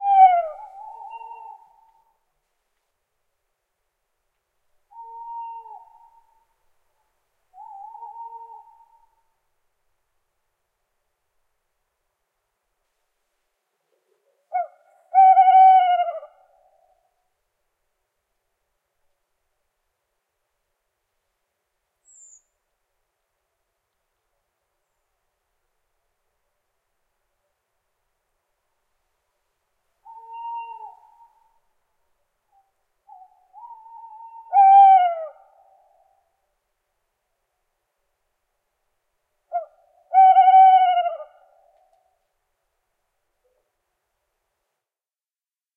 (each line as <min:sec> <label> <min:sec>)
0:00.0 two male Tawny Owls (Strix aluco) hooting 0:02.2
0:04.9 two male Tawny Owls (Strix aluco) hooting 0:06.6
0:07.5 two male Tawny Owls (Strix aluco) hooting 0:09.2
0:13.9 two male Tawny Owls (Strix aluco) hooting 0:17.2
0:22.0 two male Tawny Owls (Strix aluco) hooting 0:22.6
0:30.0 two male Tawny Owls (Strix aluco) hooting 0:31.7
0:32.5 two male Tawny Owls (Strix aluco) hooting 0:36.5
0:39.5 two male Tawny Owls (Strix aluco) hooting 0:42.1